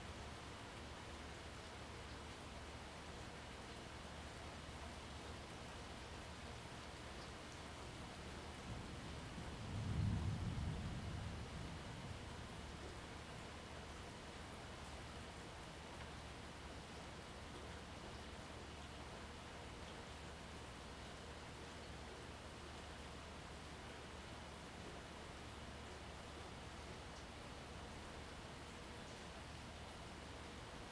0.0s light rain 30.9s
9.4s rolling thunder in the distance 12.2s

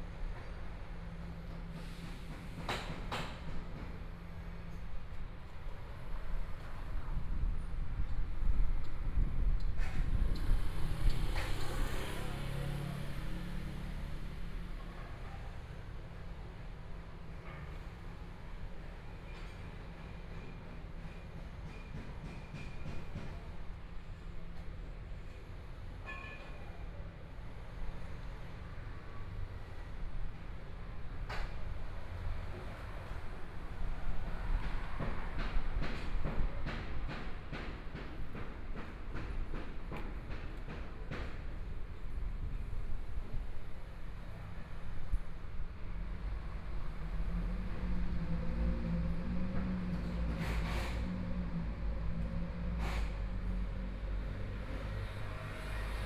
9.4s Traffic Sound 15.3s
31.3s Construction site noise 42.6s
43.7s Traffic Sound 56.0s
45.6s Construction site noise 56.0s

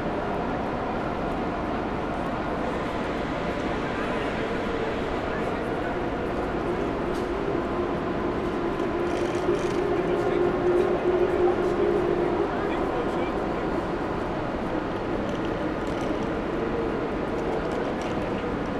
0.0s train is arriving 18.7s

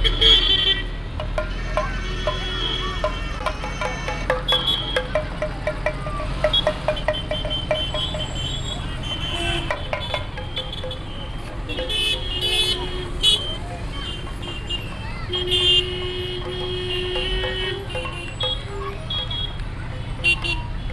0.0s percussions 20.9s
1.2s Children 11.7s
6.5s horns 19.6s
12.7s Children 20.9s

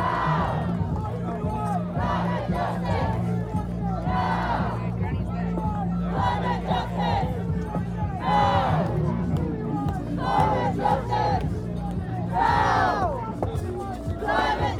0.0s Crowds chants 14.7s

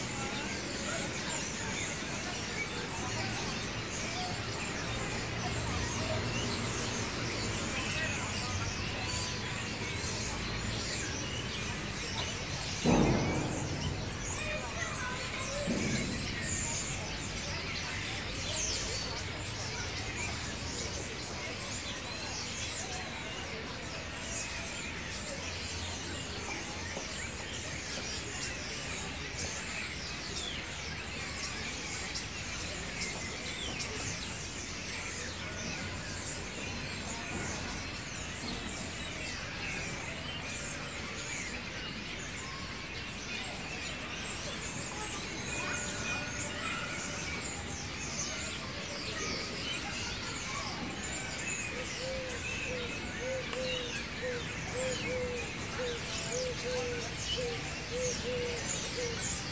0.0s children chirping and calling 59.5s
0.0s noisy starlings 59.5s
0.0s trams go by 21.0s
12.6s banging on the slide 17.2s
12.8s loud bang 16.4s

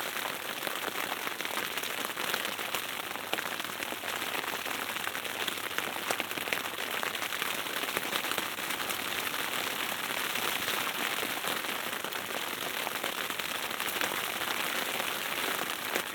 0.1s rain knocks on the roof of the tent 16.1s

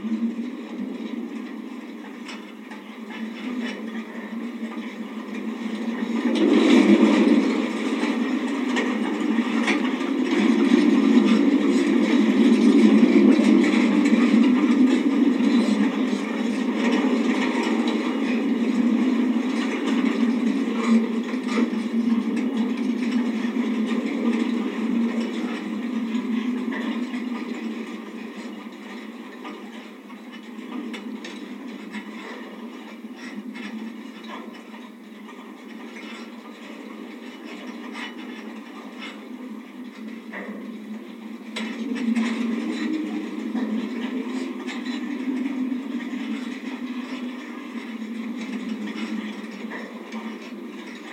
0.1s Wind & Wire Fence 51.1s

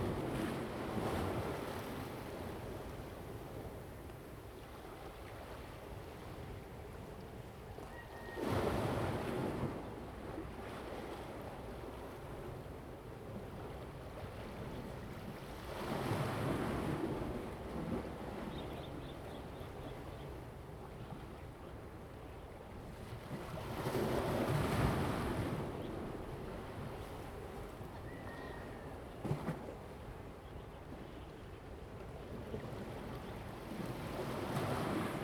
0.0s waves 35.2s

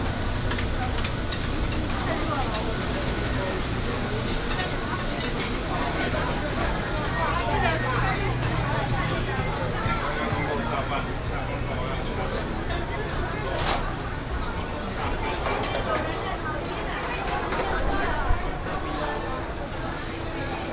0.0s Various shops sound 20.7s

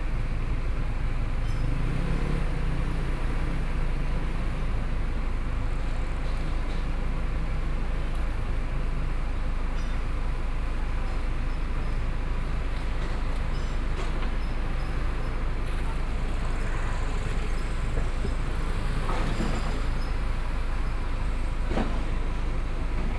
0.0s crowd on the road 23.1s
0.0s vehicle 23.1s
10.6s Construction noise 23.1s

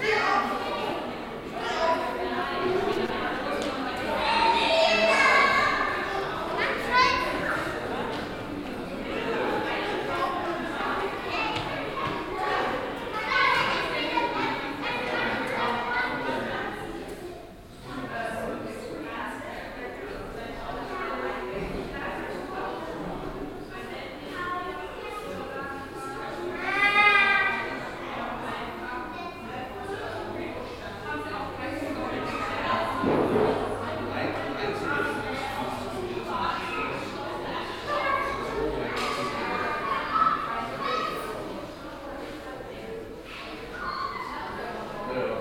0.0s visitor ambience 45.4s

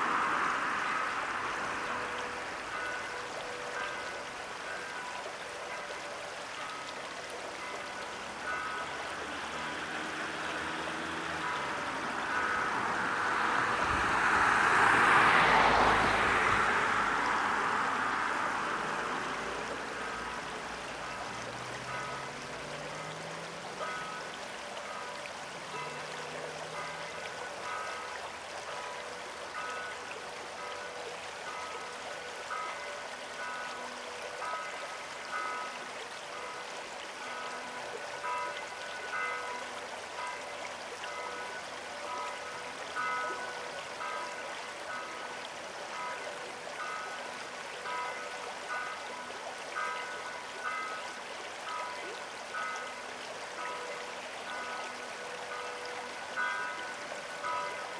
0.0s engines of cars 2.8s
0.0s Church bell 57.9s
0.0s river 57.9s
8.8s engines of cars 23.9s

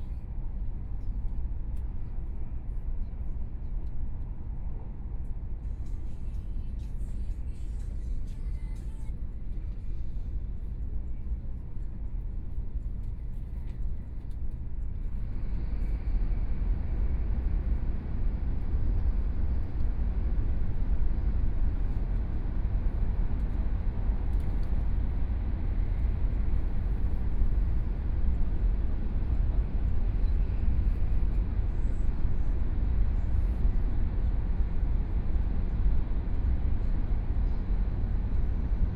3.8s High Speed Rail 38.9s

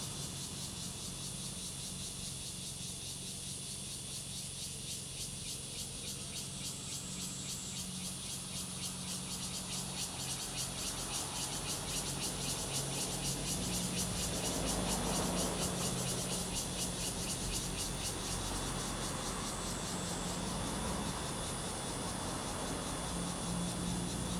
0.0s Cicadas sound 24.3s
12.9s Traffic Sound 24.3s

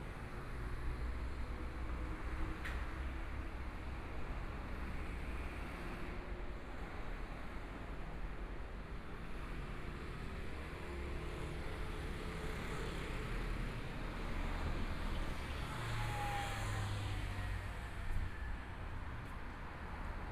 13.3s Traffic Sound 20.3s

